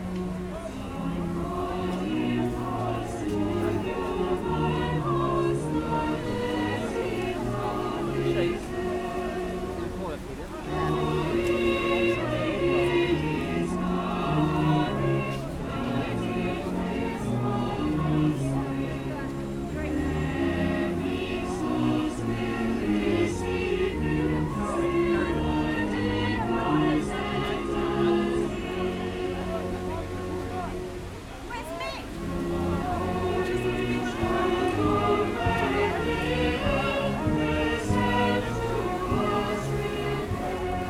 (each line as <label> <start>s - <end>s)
police women on a horse 31.5s - 40.8s